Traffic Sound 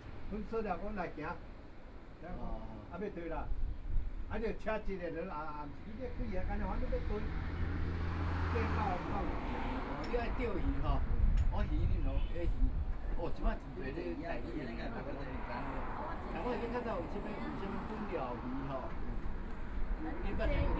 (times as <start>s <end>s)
5.2s 20.7s